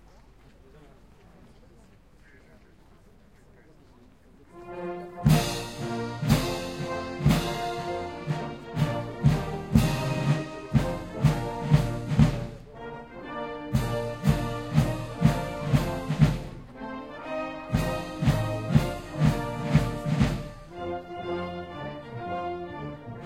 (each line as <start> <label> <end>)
0.0 voices of people watching 23.2
4.5 French National Anthem performed by the Official French Republic Marching Band 23.2